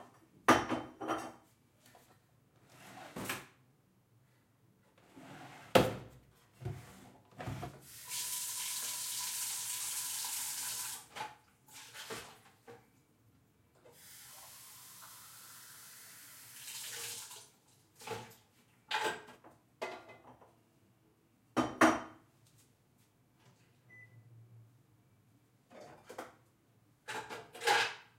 0.0s cabinets 9.8s
7.8s water sink 12.5s
7.9s drain 11.1s
10.9s cabinets 15.1s
13.9s water sink 18.4s
14.0s drain 17.6s
16.8s cabinets 20.8s
25.6s cabinets 28.1s

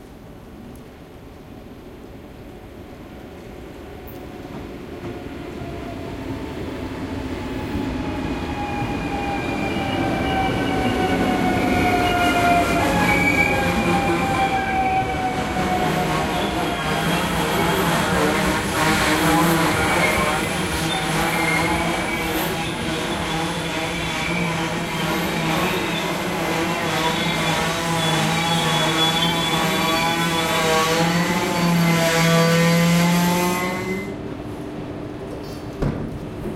8.1s Train braking 34.2s

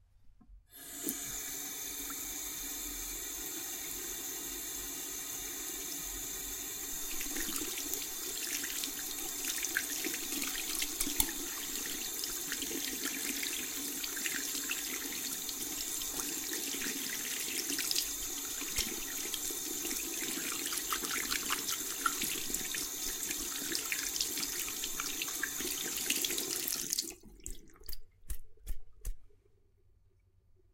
0.8s washing hands in the sink 29.3s

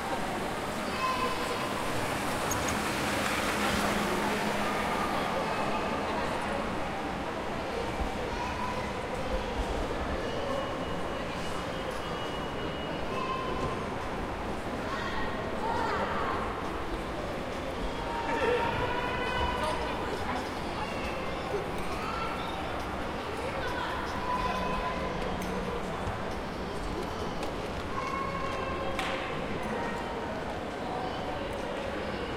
0.0s children voices 6.6s
0.0s Peoples talk 32.3s

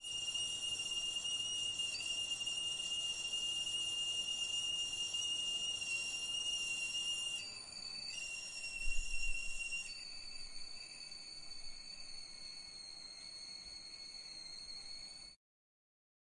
0.0s boiled kettle whistling 15.4s

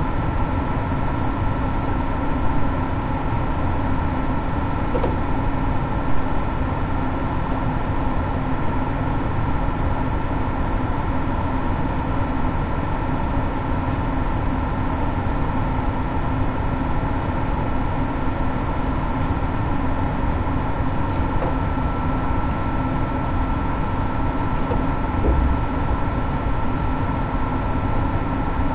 3.1s PC fans 7.4s
4.8s hard drive 5.5s
4.9s Neighbor is banging around 5.4s
17.8s PC fans 28.7s
20.9s hard drive 26.8s
21.0s Neighbor is banging around 26.9s

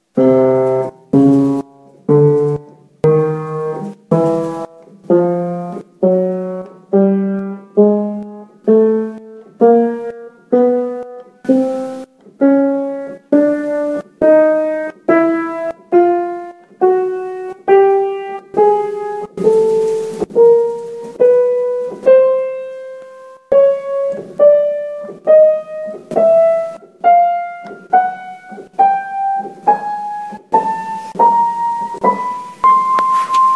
0.0s Piano Chromatic Scale 33.5s

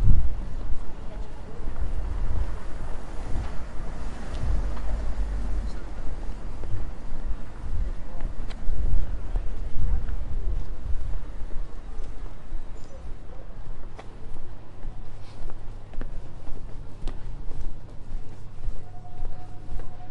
0.0s tram 20.1s
2.0s car passing by 6.5s

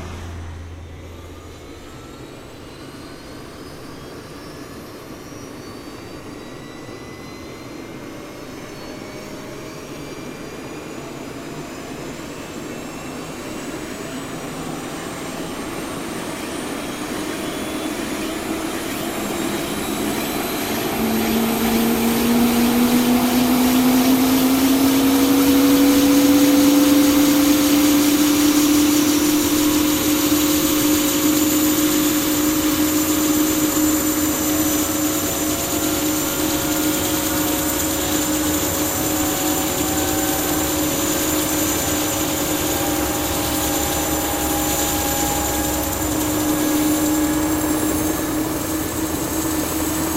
14.4s chopper 50.1s

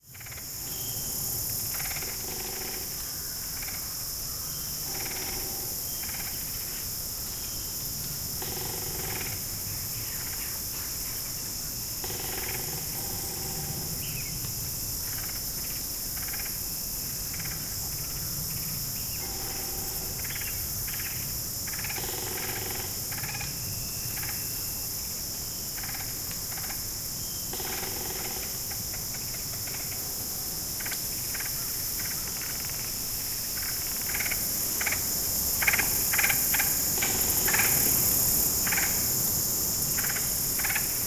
33.8s wind sifting through the branches of the oaks 41.0s

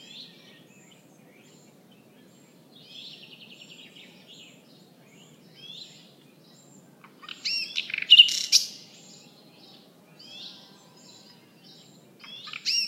0.0s nightingale 12.8s

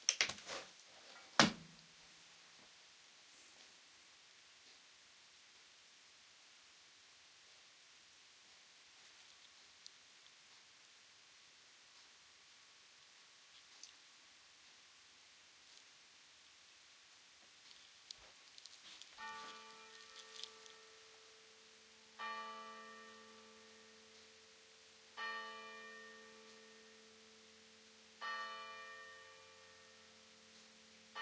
19.2s church bell 31.2s

